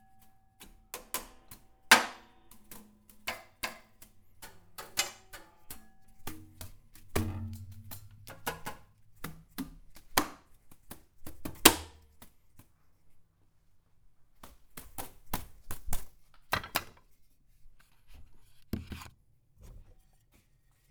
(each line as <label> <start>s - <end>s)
paint brush drum beat 0.6s - 11.8s